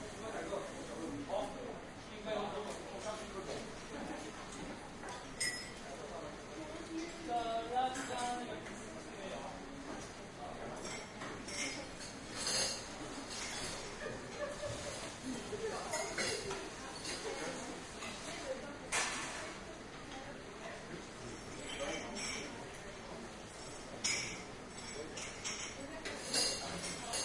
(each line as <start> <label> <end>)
0.0 people eating and chatting 27.2
10.8 washing and preparing dishes 19.4